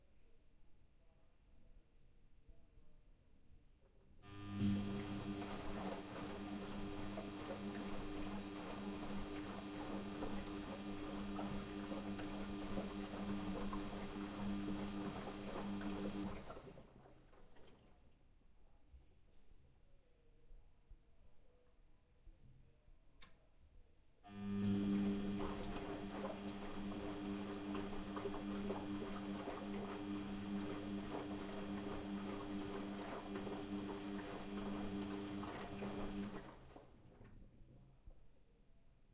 washing machine 0:04.2 - 0:18.0
washing machine 0:24.3 - 0:37.4

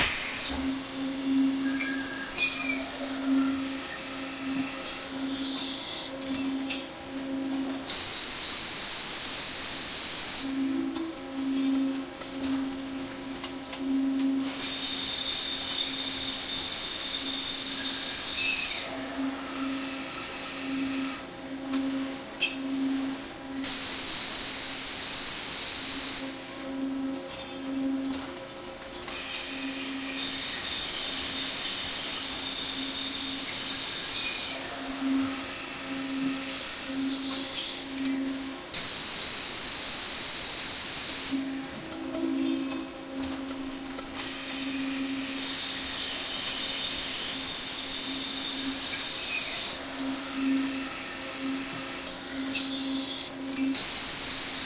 machinery 0:00.0 - 0:54.6

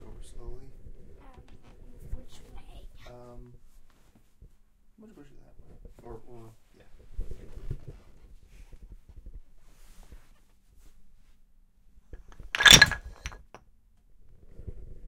toppling tower of wooden blocks 0:12.4 - 0:13.5

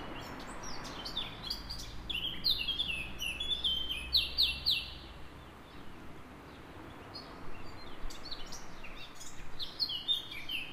Loud soloist of unidentified species 0:00.0 - 0:05.8
Other birdsong 0:00.0 - 0:10.7
traffic sounds in background 0:00.0 - 0:10.7

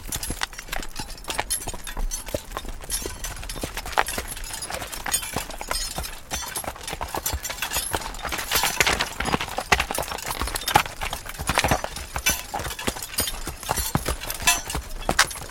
loud horse steps on a forest soil 0:00.0 - 0:06.2
Rattling of metalic chains 0:00.0 - 0:15.5
loud horse steps on a forest soil 0:07.3 - 0:15.5

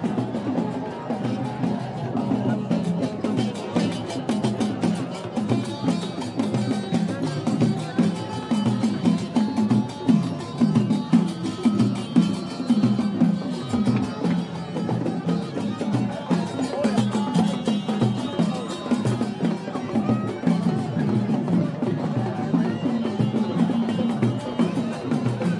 street musicians 0:00.0 - 0:25.5

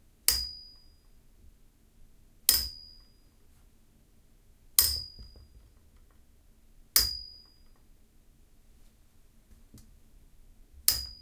metal light stand being struck with a metal coat hanger 0:00.3 - 0:00.9
metal light stand being struck with a metal coat hanger 0:02.5 - 0:03.1
metal light stand being struck with a metal coat hanger 0:04.8 - 0:05.5
metal light stand being struck with a metal coat hanger 0:07.0 - 0:07.7
metal light stand being struck with a metal coat hanger 0:10.9 - 0:11.2

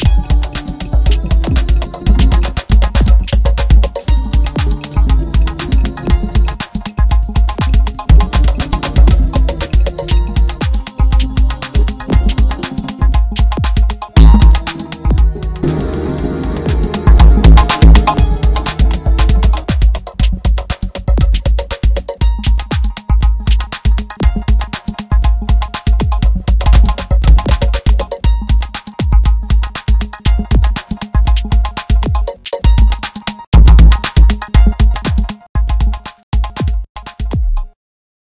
drum loop 0:00.0 - 0:37.8

